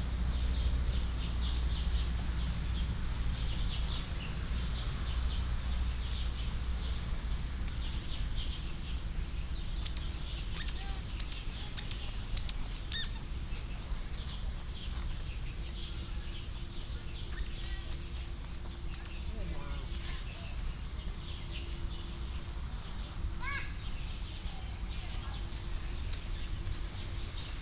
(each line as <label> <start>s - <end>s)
Traffic Sound 0.0s - 27.6s
Birds singing 0.3s - 27.6s